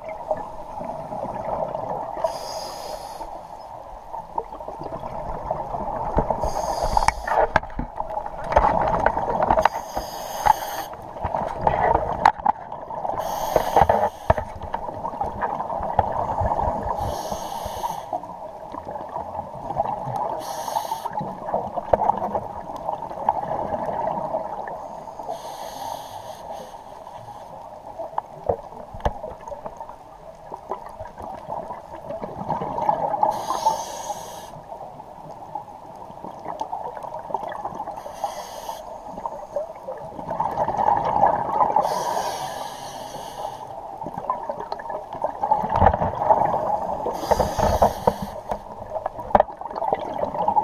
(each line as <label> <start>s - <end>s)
scuba regulator 1.5s - 3.8s
scuba regulator 5.1s - 18.3s
scuba regulator 20.2s - 22.2s
scuba regulator 23.3s - 27.6s
bubbles 30.6s - 33.3s
scuba regulator 32.5s - 34.6s
scuba regulator 37.9s - 39.7s
bubbles 40.0s - 41.8s
scuba regulator 40.4s - 43.8s
bubbles 44.1s - 47.0s
scuba regulator 45.4s - 50.6s
bubbles 48.9s - 50.6s